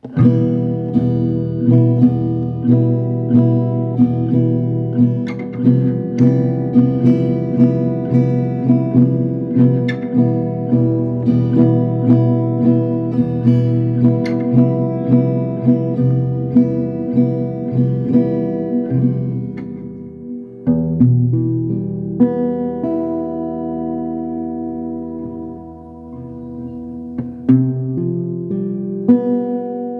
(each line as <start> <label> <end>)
0.0 Guitar 29.9